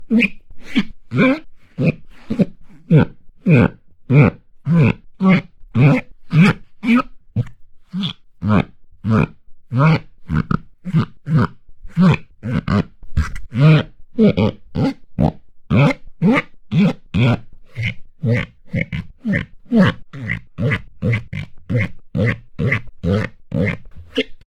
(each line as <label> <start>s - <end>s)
rubber squeaks 0.0s - 24.5s